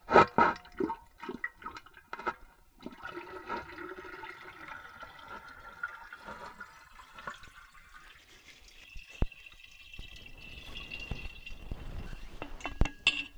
Water being poured out of a thermos 0:00.0 - 0:13.3

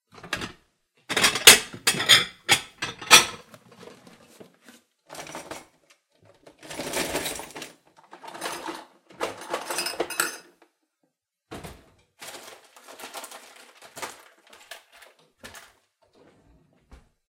Rummaging and looking through cabinet doors 0:00.1 - 0:10.8
drawers 0:00.1 - 0:10.5
Rummaging and looking through cabinet doors 0:11.4 - 0:17.2
drawers 0:11.5 - 0:17.2

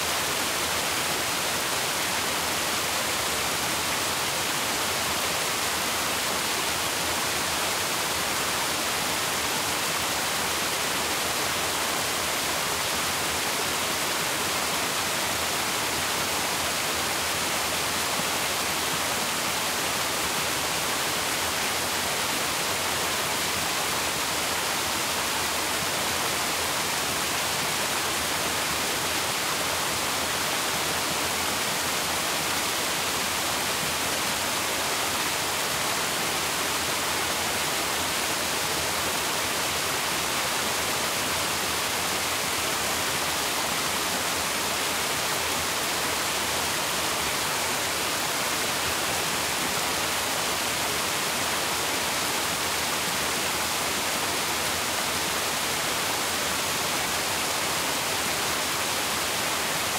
Waterfall 0:00.0 - 0:59.9

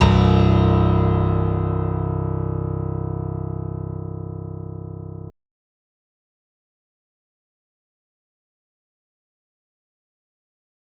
piano 0:00.0 - 0:05.3

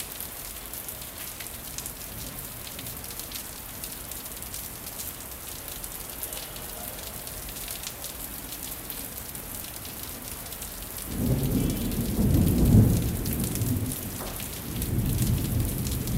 rain 0:00.0 - 0:16.1
wind 0:00.0 - 0:16.1
rolling thunder 0:11.1 - 0:16.1

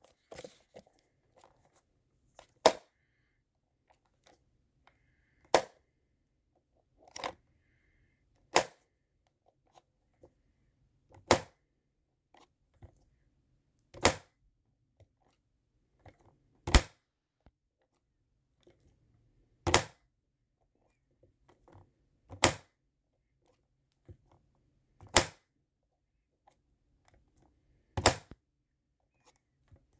Oticon SmartCharger case opening and closing 0:08.5 - 0:08.8
Oticon SmartCharger case opening and closing 0:28.0 - 0:28.4

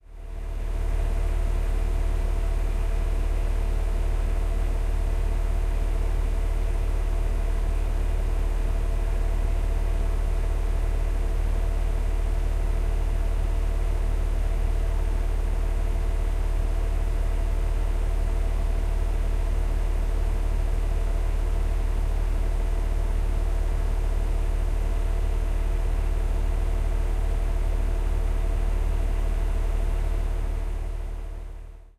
Droning noise of a heat pump fan 0:00.0 - 0:31.9

